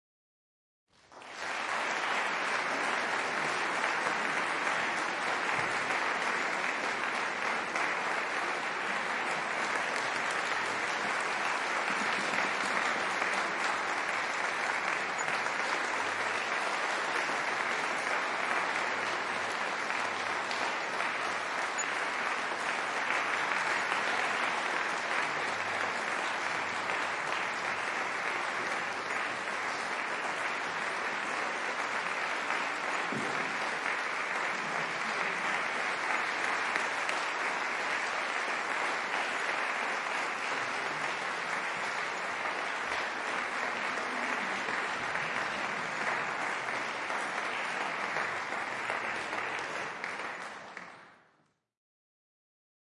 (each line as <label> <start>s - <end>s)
cheering 1.1s - 51.2s